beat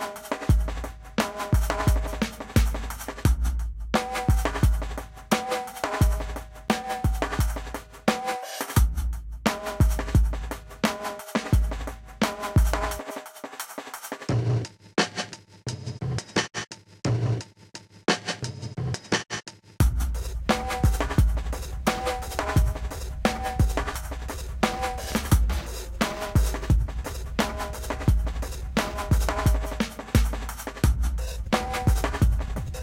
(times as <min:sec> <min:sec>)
0:00.0 0:13.2, 0:19.8 0:32.8